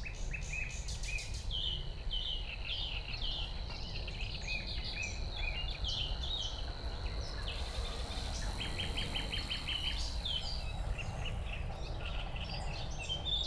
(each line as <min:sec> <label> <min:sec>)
0:07.2 Great reed warbler 0:11.9
0:07.4 bird chorus 0:11.8
0:07.5 Song thrush 0:11.8
0:07.5 Savi's warbler 0:11.6